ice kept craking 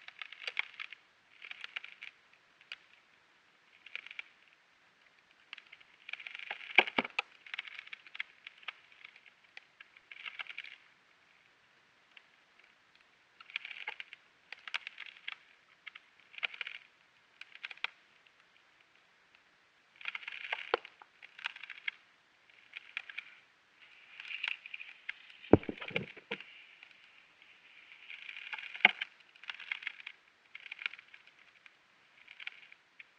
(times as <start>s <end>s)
13.4s 18.0s, 20.0s 33.1s